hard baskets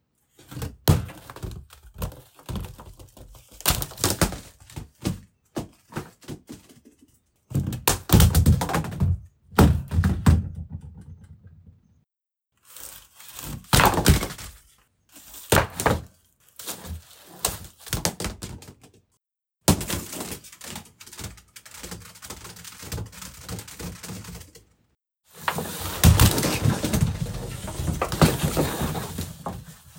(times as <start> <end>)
25.4 29.8